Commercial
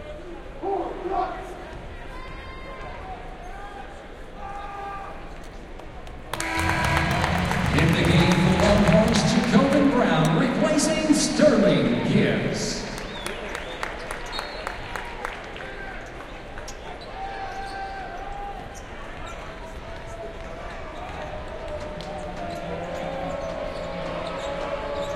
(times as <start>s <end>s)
6.4s 10.2s